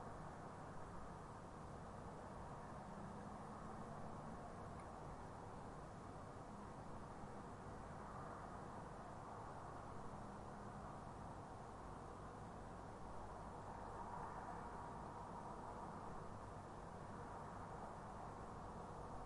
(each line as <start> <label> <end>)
0.0 roar of traffic can be heard in distance 19.2